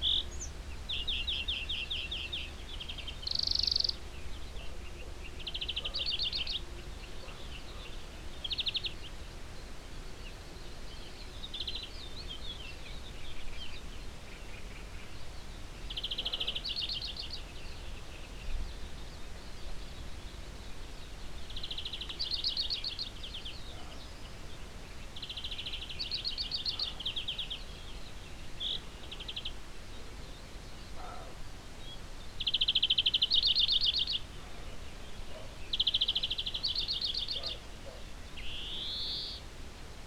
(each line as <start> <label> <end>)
0.0 morning birds 40.0
4.4 in the distance a dog 8.3
16.0 in the distance a dog 17.0
23.6 in the distance a dog 24.2
26.6 in the distance a dog 27.2
30.9 in the distance a dog 31.5
34.2 in the distance a dog 35.7
37.2 in the distance a dog 38.2